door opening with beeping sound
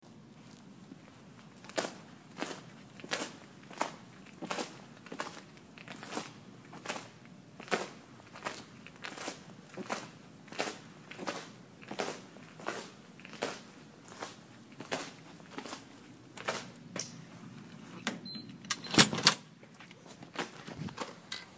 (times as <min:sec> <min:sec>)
0:18.1 0:19.4